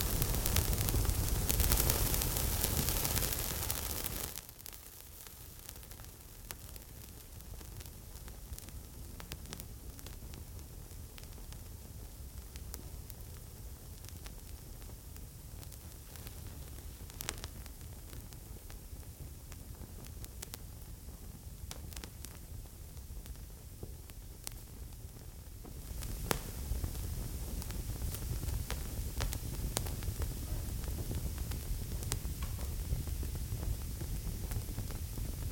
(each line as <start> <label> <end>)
0.0 Torch Crackle 35.5